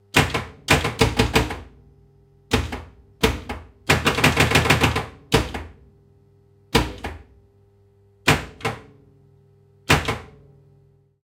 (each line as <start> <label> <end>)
2.5 pinball-flipper hits 5.8
6.8 pinball-flipper hits 7.3
8.3 pinball-flipper hits 9.0
9.9 pinball-flipper hits 10.4